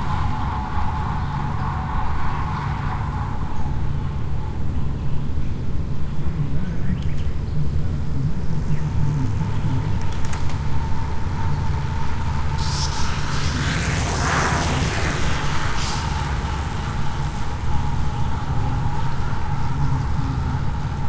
machine noise in background 0.0 - 21.0
Birds 4.4 - 21.0
single pass-bys 8.4 - 21.0

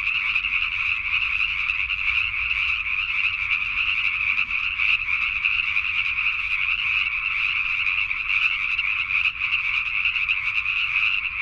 frogs 0.0 - 11.4

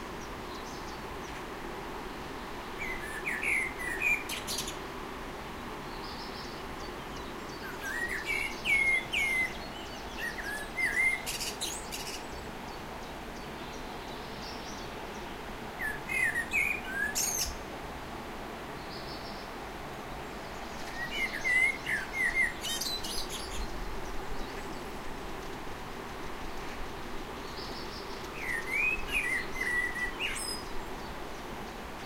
birdsong 0.1 - 1.5
birdsong 2.2 - 4.8
birdsong 5.8 - 17.7
birdsong 18.7 - 26.5
birdsong 27.3 - 32.0

